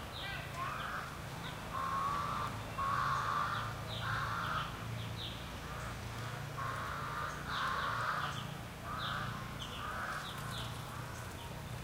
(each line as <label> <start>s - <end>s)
distant sparse people activity 0.0s - 11.8s
light traffic 0.0s - 11.8s
crows 0.2s - 4.8s
crackly twiggy stuff 5.5s - 11.8s
crows 5.6s - 11.4s